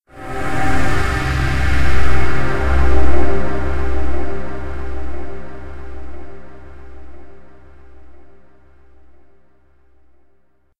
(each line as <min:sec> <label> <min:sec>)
0:00.1 choir 0:08.5